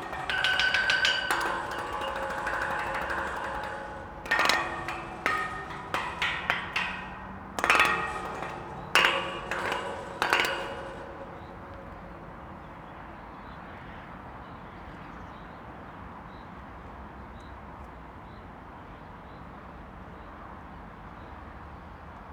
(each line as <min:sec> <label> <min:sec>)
0:00.0 Playing the metal railings mid-bridge with two found wood sticks 0:12.2